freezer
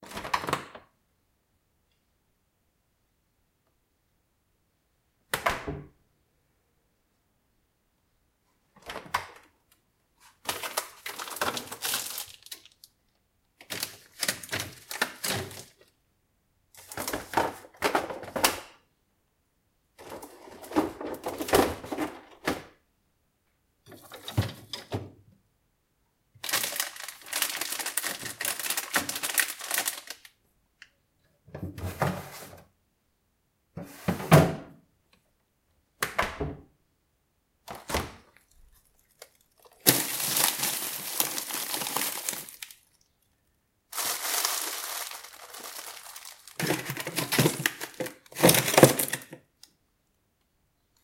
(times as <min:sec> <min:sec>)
0:10.2 0:12.8, 0:13.6 0:15.8, 0:20.0 0:22.7, 0:26.4 0:30.3, 0:39.0 0:42.9, 0:43.9 0:49.4